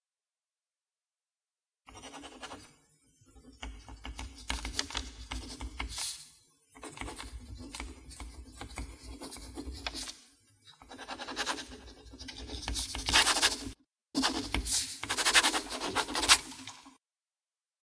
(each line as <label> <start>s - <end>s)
write print & cursive hard surface 1.9s - 2.7s
write print & cursive hard surface 3.4s - 6.2s
write print & cursive hard surface 6.8s - 16.7s